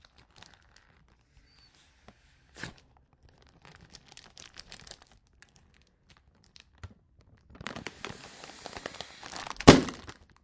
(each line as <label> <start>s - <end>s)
bursted it 8.1s - 10.1s